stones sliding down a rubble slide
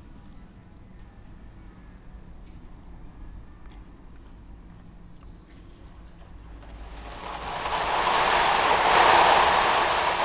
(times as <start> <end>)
6.6 10.2